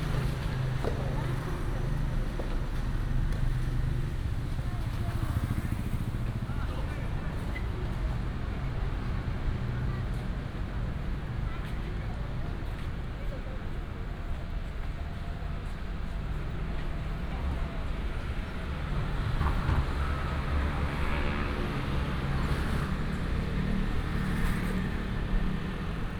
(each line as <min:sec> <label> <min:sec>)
0:00.0 Traffic sound 0:26.1